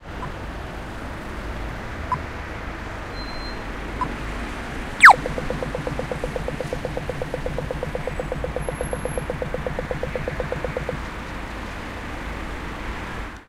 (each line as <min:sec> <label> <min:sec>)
0:05.0 Crosswalk Button Go 0:11.0